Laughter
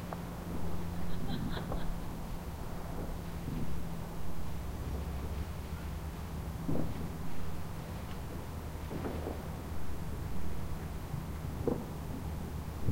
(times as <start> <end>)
1.0 2.2